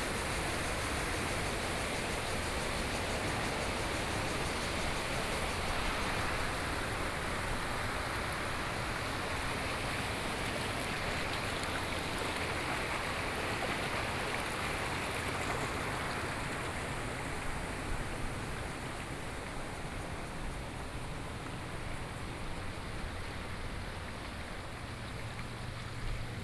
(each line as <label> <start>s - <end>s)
Cicadas sound 0.0s - 9.0s
Waterwheel 0.0s - 26.4s
Various water sounds 4.8s - 26.4s